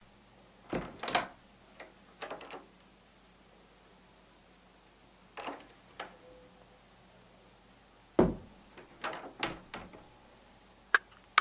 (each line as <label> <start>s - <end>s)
opening a door quickly, yet shutting it slowly 0.7s - 2.8s
opening a door quickly, yet shutting it slowly 5.4s - 6.3s
opening a door quickly, yet shutting it slowly 8.2s - 10.1s